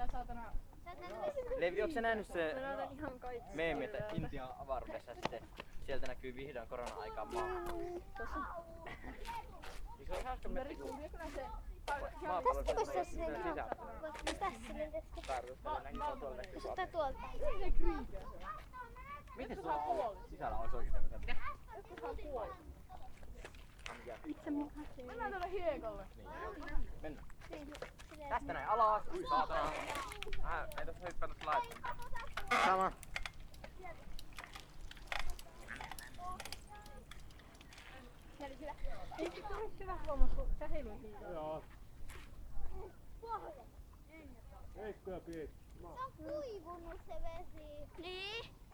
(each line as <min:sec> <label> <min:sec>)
0:00.0 People hanging around 0:48.7
0:21.1 cycling 0:48.5